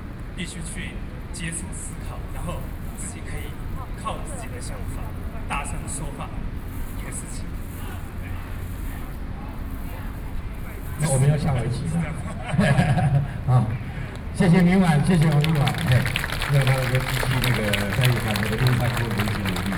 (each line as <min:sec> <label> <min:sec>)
0:00.4 speech 0:19.7